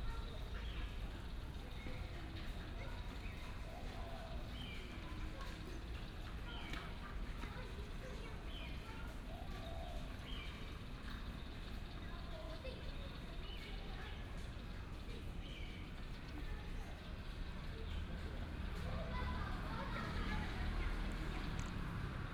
0.2s birds 14.5s
6.4s Child 10.4s
13.4s traffic sound 22.3s
18.8s Child 22.3s

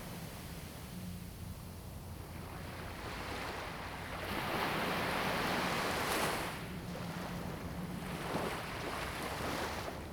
2.4s waves 10.1s

